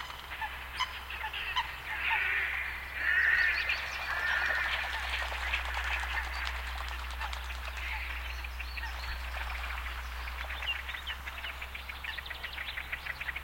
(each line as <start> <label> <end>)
0.0 great crested grebe 13.4
0.0 red-necked grebe 13.4
0.3 Coots 12.2
3.0 water splashing 11.7